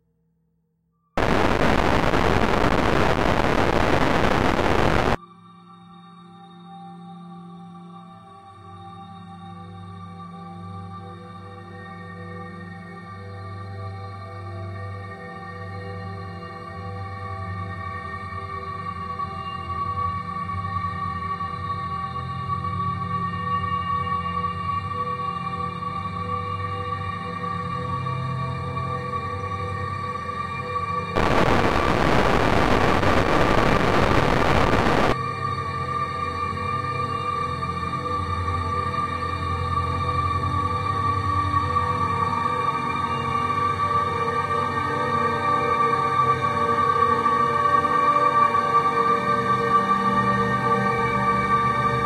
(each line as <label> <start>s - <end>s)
heavily reverberated distortion 1.2s - 5.2s
slowly evolving dreamy ambient drone pad 1.2s - 52.0s
heavily reverberated distortion 31.2s - 35.2s